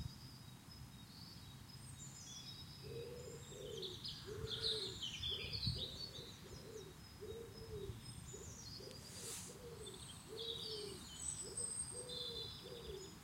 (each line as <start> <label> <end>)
0.0 birds 13.2